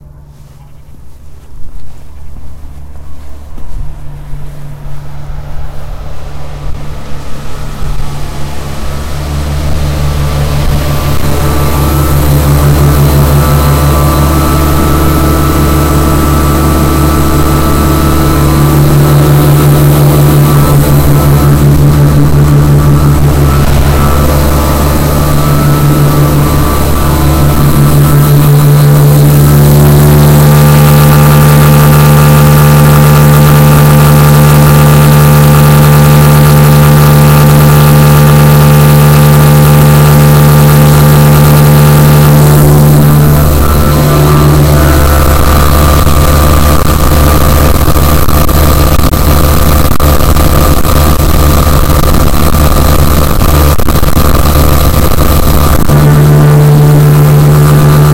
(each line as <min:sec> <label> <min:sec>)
0:00.0 industrial size motor at work 0:58.1